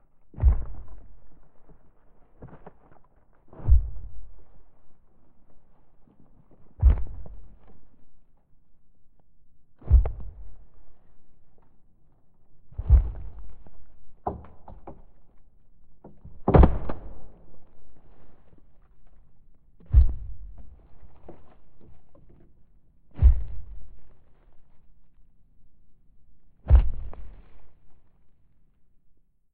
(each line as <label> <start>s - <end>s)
crunchy, thumpy stomps 0.3s - 4.6s
crunchy, thumpy stomps 6.6s - 7.9s
crunchy, thumpy stomps 9.8s - 10.7s
crunchy, thumpy stomps 12.7s - 19.2s
crunchy, thumpy stomps 19.8s - 22.4s
crunchy, thumpy stomps 23.1s - 24.6s
crunchy, thumpy stomps 26.6s - 27.8s